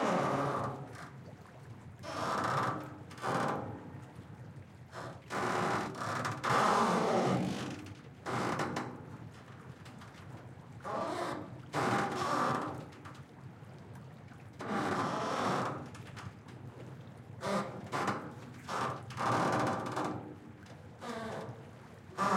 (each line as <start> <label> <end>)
22.2 Ferry pontoon pier squeaking in light waves 22.3